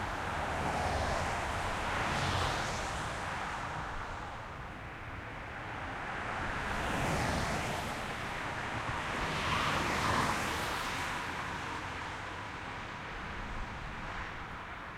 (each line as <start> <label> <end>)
0.0 car pass bys over dividers 14.9